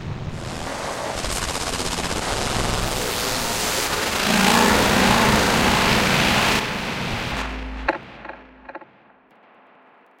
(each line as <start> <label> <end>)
0.5 noisy drone sounds 9.1